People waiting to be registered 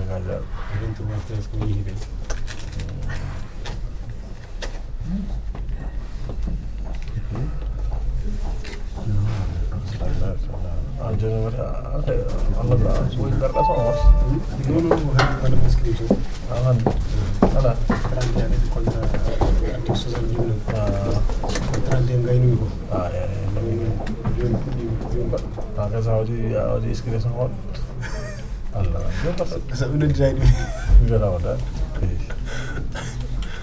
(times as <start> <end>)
12.6 16.0